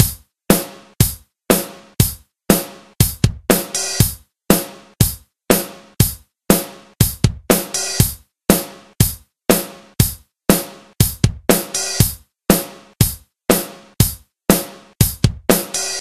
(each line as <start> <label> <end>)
0.0 drum pattern in 4/4 time 16.0